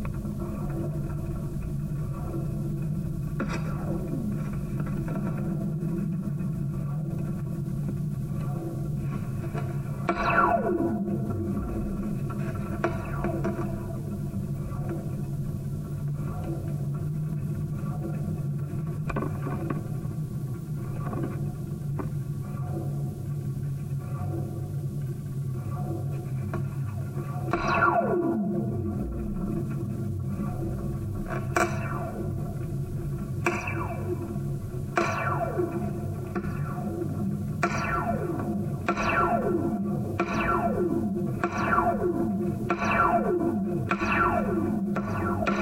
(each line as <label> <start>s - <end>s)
sounds traveling through the long steel elements of the wire 0.0s - 45.6s